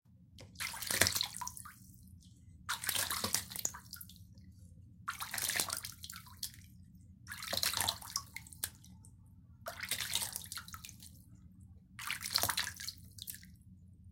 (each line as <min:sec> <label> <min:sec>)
0:00.4 water splashing sounds 0:02.0
0:02.7 water splashing sounds 0:04.2
0:05.1 water splashing sounds 0:06.6
0:07.3 water splashing sounds 0:08.9
0:09.7 water splashing sounds 0:11.1
0:12.0 water splashing sounds 0:13.5